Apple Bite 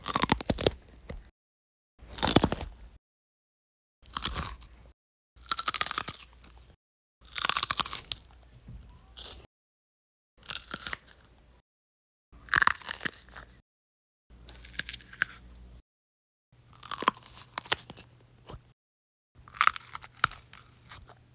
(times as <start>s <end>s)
0.0s 1.3s, 2.0s 3.0s, 4.0s 9.5s, 10.4s 11.4s, 12.4s 13.6s, 14.3s 15.6s, 16.6s 18.7s, 19.4s 21.2s